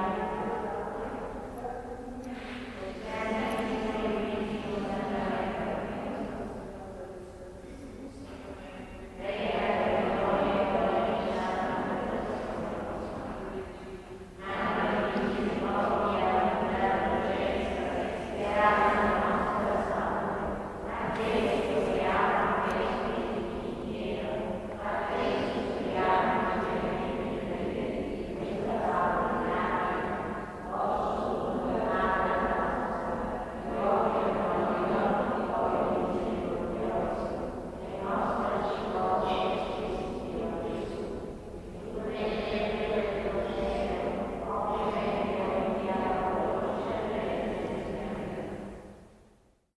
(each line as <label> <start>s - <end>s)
Nuns praying 0.0s - 49.7s